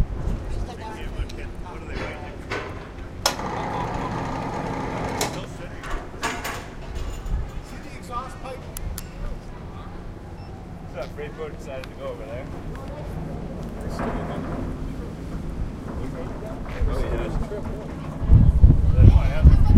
Ferry 0.0 - 19.7
Workers 0.0 - 19.7

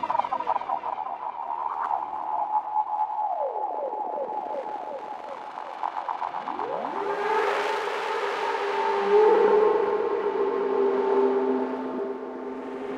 drone 4.3 - 12.9

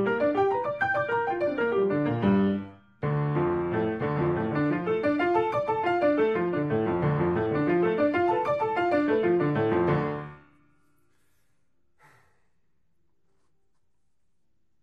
Piano 0.0 - 11.3

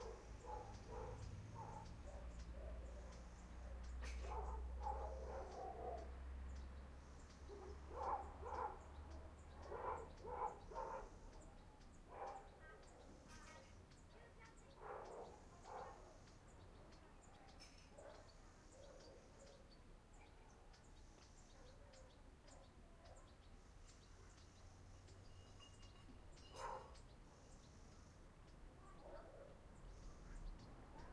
dogs 0.0 - 6.2
birds 0.0 - 31.1
dogs 7.5 - 8.9
dogs 9.6 - 11.5
dogs 12.1 - 13.2
dogs 14.2 - 16.2
dogs 16.8 - 19.6
dogs 26.4 - 27.6
dogs 28.9 - 29.6

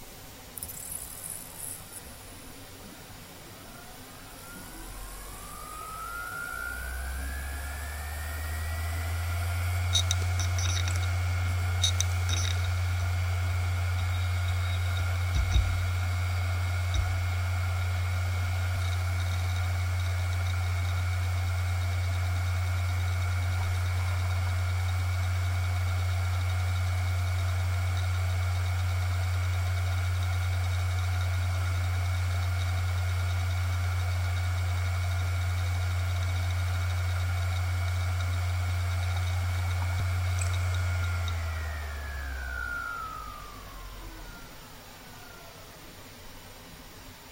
hard drive 0.0 - 45.9

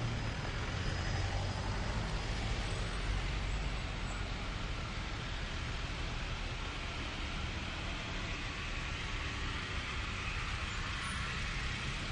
Traffic jam 0.0 - 12.1

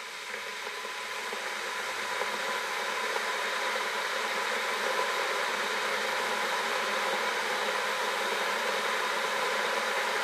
Kettle Boiling 0.0 - 10.2

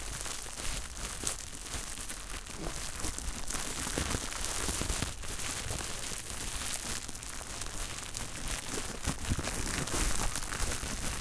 Bubble Wrap Crinkle 0.0 - 11.2

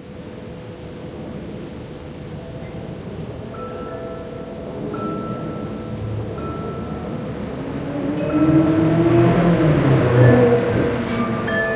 chimes 2.3 - 11.7
motorbike 5.4 - 11.7

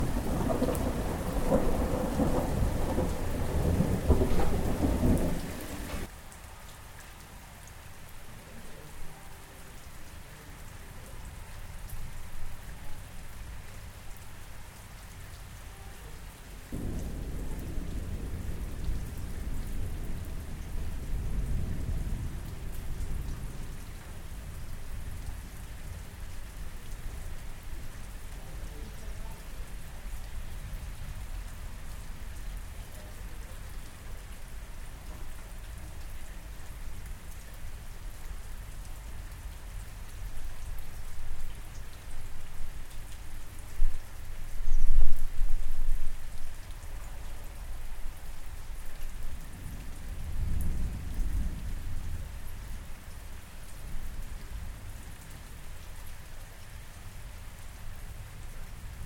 thunderstorm 0.0 - 6.1
rainstorm 0.0 - 59.0
thunderstorm 16.7 - 26.0
thunderstorm 44.6 - 46.2
thunderstorm 49.3 - 53.0

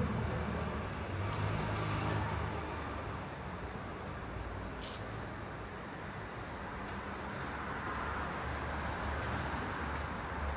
busy street 0.0 - 10.5

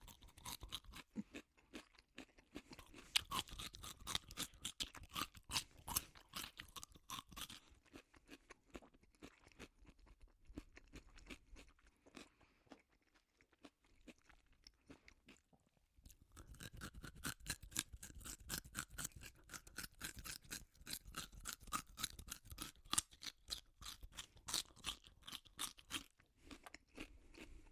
eating carrots 0.0 - 27.7

